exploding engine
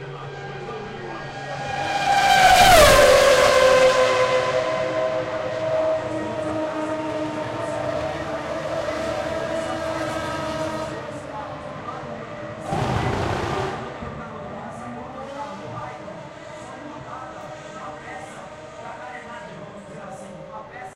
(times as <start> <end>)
12.6 14.3